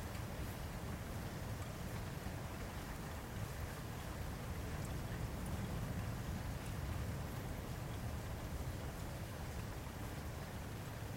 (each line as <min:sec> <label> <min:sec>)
0:00.0 rain during a thunderstorm 0:11.1